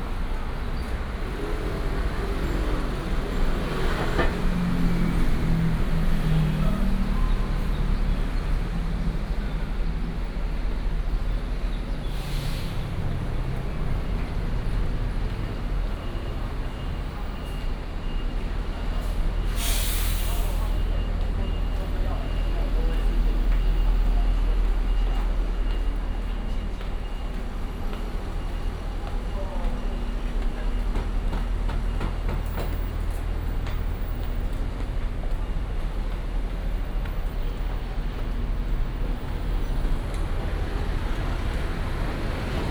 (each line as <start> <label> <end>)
0.0 Traffic noise 42.7
20.2 Walking on the road 42.7